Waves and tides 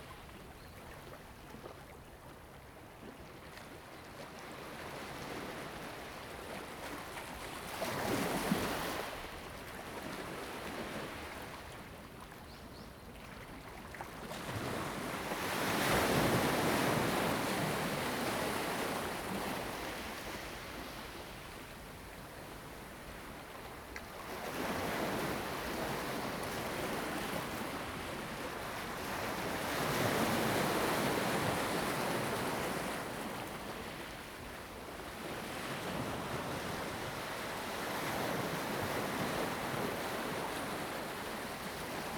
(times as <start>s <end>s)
13.2s 42.1s